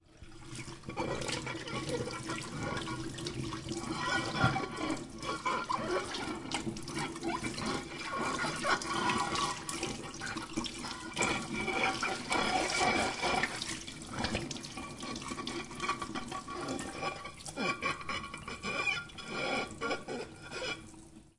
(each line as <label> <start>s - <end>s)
Washing a pyrex baking dish in soapy water 0.0s - 21.3s